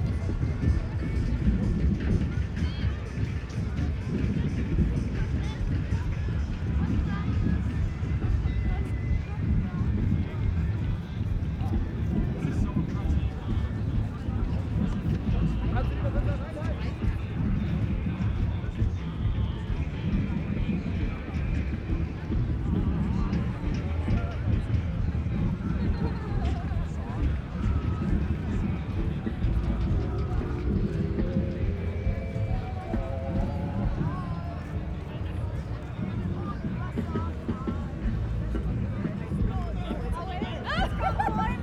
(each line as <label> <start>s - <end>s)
distand sounds of a demonstration 0.0s - 41.6s